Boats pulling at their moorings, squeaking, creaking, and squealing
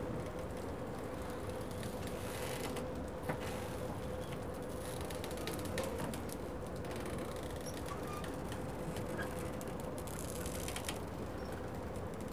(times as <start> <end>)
7.5 9.6